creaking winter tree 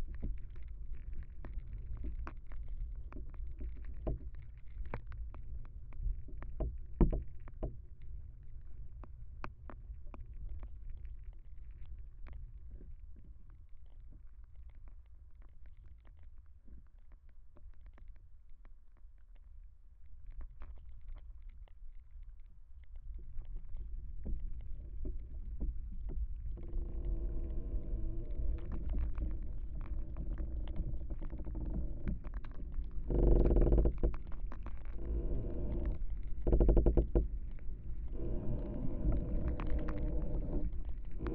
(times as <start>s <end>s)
0.0s 7.8s, 22.9s 41.3s